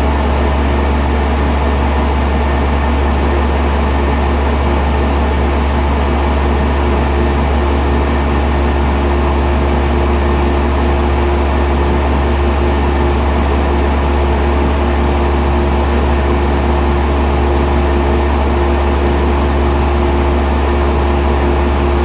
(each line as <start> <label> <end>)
0.0 large central air conditioner unit 22.0